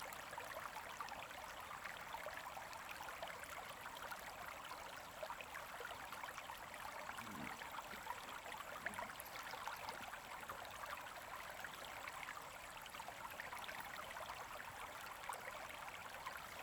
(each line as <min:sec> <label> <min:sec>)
0:00.0 Small streams 0:16.6